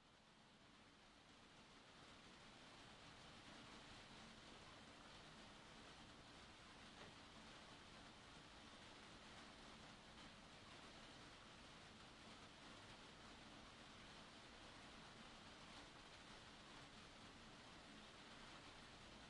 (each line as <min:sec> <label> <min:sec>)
0:00.0 Light rain on glass conservatory roof 0:19.2